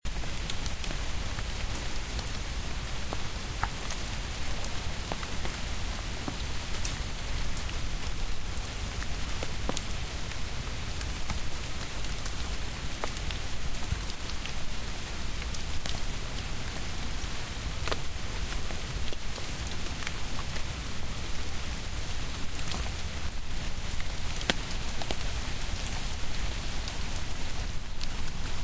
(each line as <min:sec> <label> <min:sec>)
0:00.0 Rain in woods,on fallen leaves 0:28.6